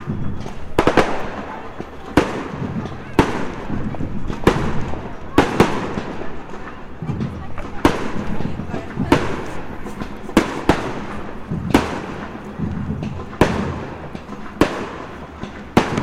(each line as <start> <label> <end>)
0.0 fireworks 16.0